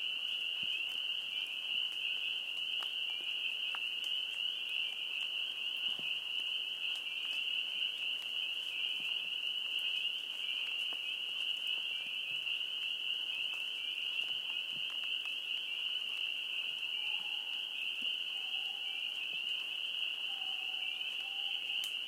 Chorus of various species of frogs 0:00.0 - 0:22.0
Light rain 0:00.0 - 0:22.0
crickets 0:00.0 - 0:22.0
calls of some creature of the night 0:16.8 - 0:19.3
calls of some creature of the night 0:20.2 - 0:22.0

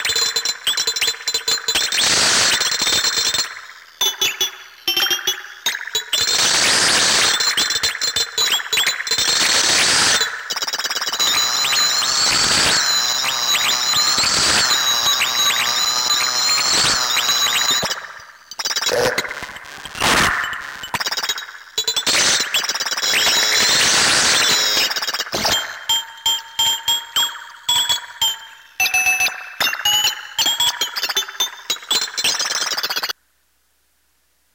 speak and math 0:18.9 - 0:19.3

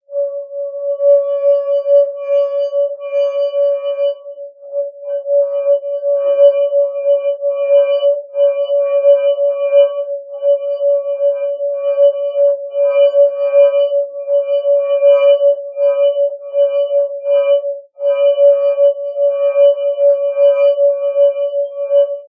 wet finger rubbing a rim of an empty wine glass 0:00.1 - 0:22.2

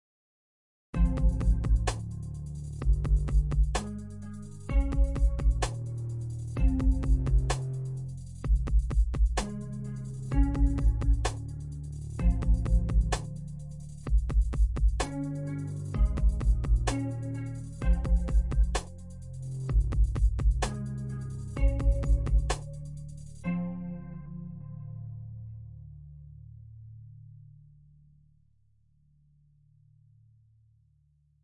music 0:01.0 - 0:28.3

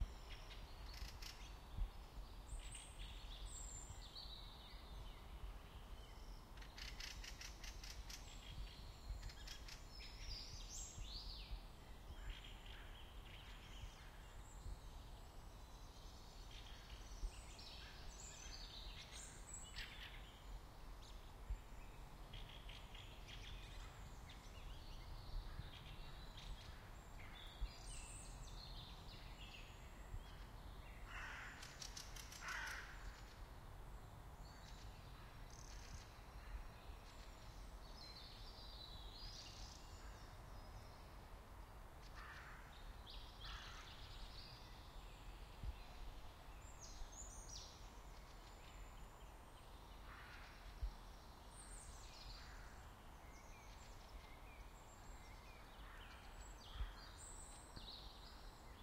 Various birds 0:00.0 - 0:33.6
Various birds 0:41.8 - 0:58.8

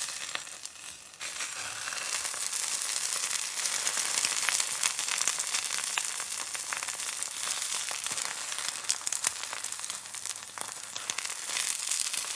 sizzle fry egg 0:00.0 - 0:12.3

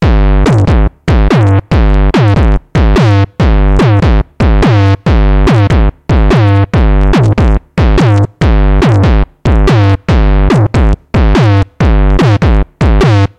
distorted kick bass drum 0:00.0 - 0:13.3

